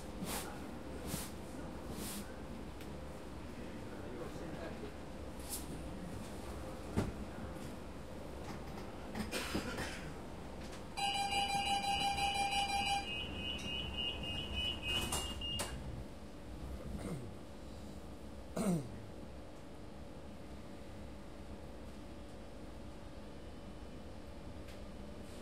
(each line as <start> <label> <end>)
0.0 Train rides 17.0
11.4 doors open 15.8
13.0 doors close 15.8